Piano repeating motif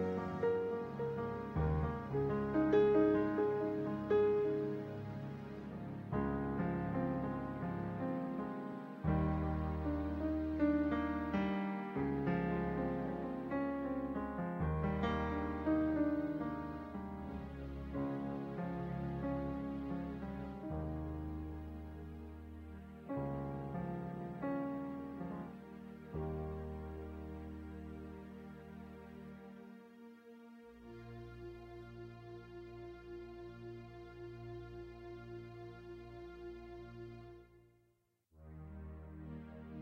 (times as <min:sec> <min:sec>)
0:00.0 0:29.4